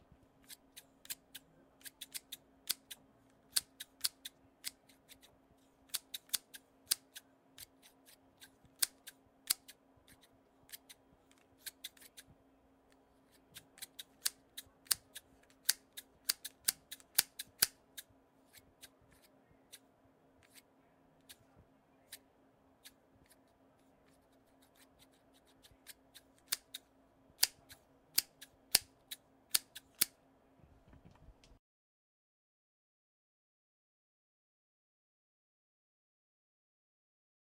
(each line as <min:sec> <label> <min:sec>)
0:00.4 Scissors cut slice 0:05.3
0:05.9 Scissors cut slice 0:12.3
0:13.3 Scissors cut slice 0:19.8
0:20.4 Scissors cut slice 0:20.6
0:24.1 Scissors cut slice 0:26.8